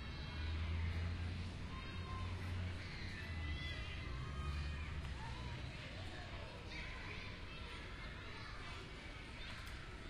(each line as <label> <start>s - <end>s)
happy children playing 0.0s - 10.0s